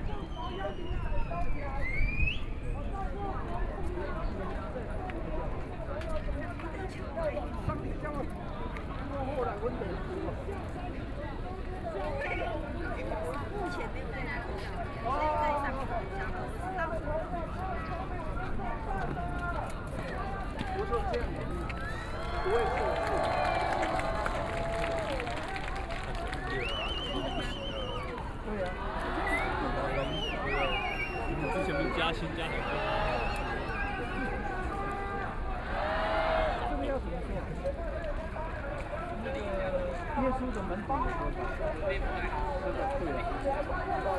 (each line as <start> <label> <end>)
0.0 Thousand Protesters gather 44.1
22.2 Shouting slogans 36.9